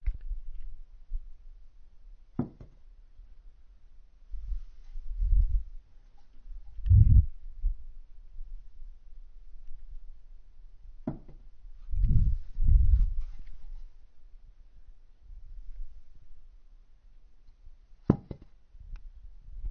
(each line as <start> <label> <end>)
2.4 small wooden plank falling over, making a soft thud 2.8
18.1 small wooden plank falling over, making a soft thud 18.5